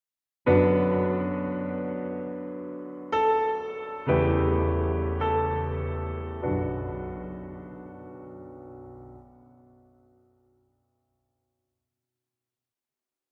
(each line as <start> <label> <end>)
0.5 very sad phrase in the style of Schubert, Liszt 9.8